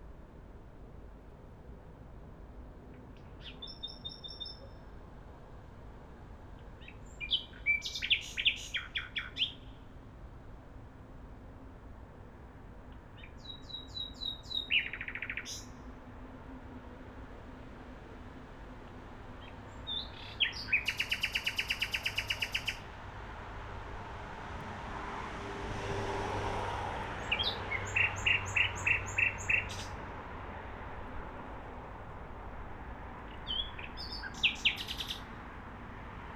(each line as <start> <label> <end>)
3.0 late Nightingale 4.9
6.8 late Nightingale 9.9
13.2 late Nightingale 15.8
19.4 late Nightingale 22.9
27.2 late Nightingale 30.0
33.3 late Nightingale 35.3